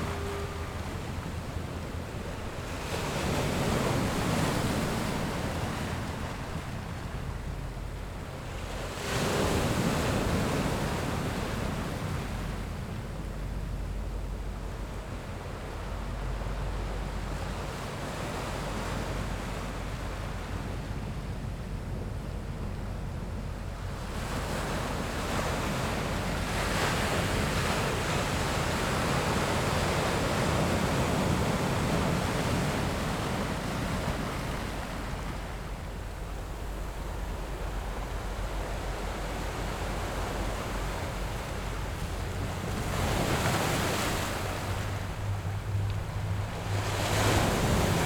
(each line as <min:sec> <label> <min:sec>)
0:00.0 yacht's whistle 0:04.0
0:00.0 waves 0:48.0